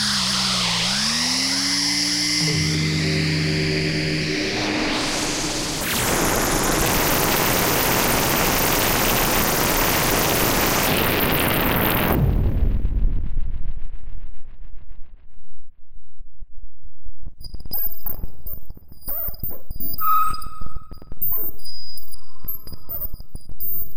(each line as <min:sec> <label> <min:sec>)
0:00.0 Glitch 0:12.9
0:00.0 Static 0:12.9
0:05.0 Crackle 0:23.9
0:17.4 Glitch 0:23.9
0:17.5 Static 0:23.9